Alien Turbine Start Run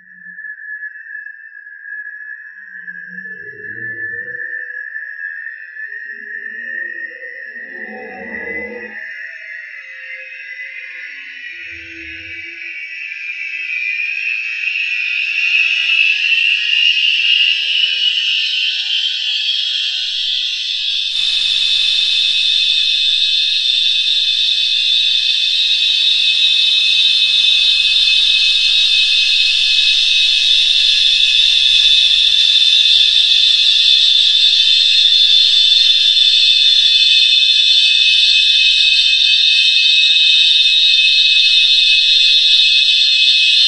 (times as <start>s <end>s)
7.5s 9.0s, 19.1s 43.6s